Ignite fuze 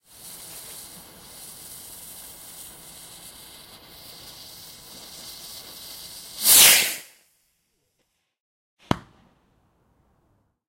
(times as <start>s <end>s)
0.0s 7.3s